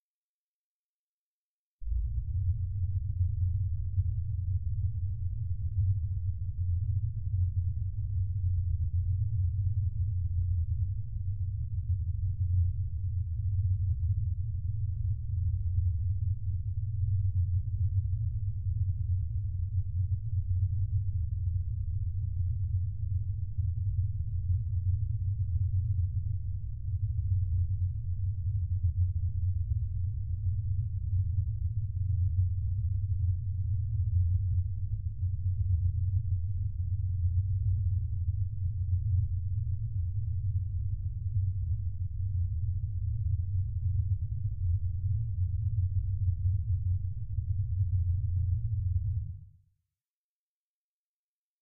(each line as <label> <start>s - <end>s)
spaceship rumble 1.9s - 7.4s